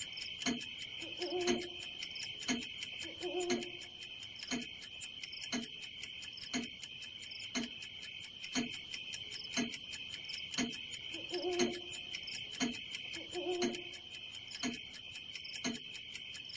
Clock 0:00.0 - 0:16.5

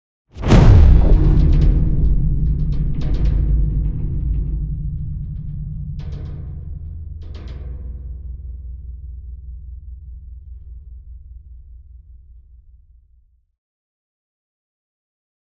explosion 0:00.4 - 0:05.0
crash 0:00.4 - 0:06.0
Impact 0:00.4 - 0:07.0
rumble 0:00.4 - 0:13.3
thudbang 0:00.4 - 0:06.1

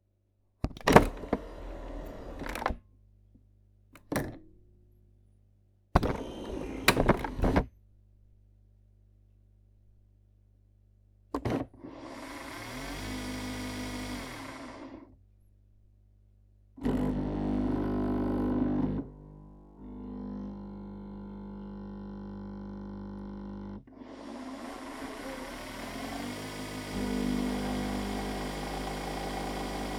Nespresso Machine operation 0:00.8 - 0:02.8
Nespresso Machine operation 0:06.0 - 0:07.6
Nespresso Machine operation 0:24.0 - 0:29.9

